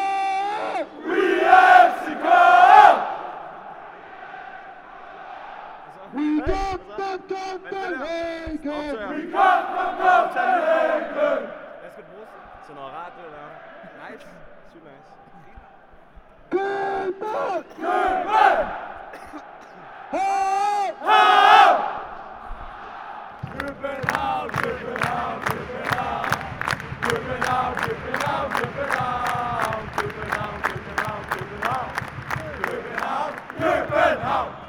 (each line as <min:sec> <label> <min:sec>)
0:00.0 Football ultras chanting 0:34.6